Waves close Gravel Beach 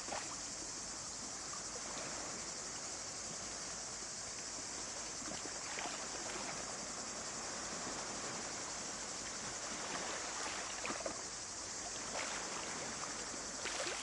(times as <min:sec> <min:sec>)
0:05.8 0:14.0